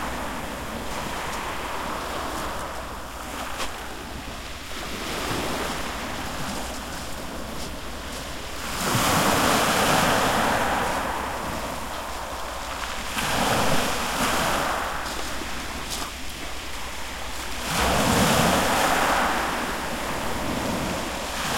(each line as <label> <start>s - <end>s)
Small Waves crashing on a on shale beech 0.0s - 21.5s
nearby footsteps 5.7s - 8.6s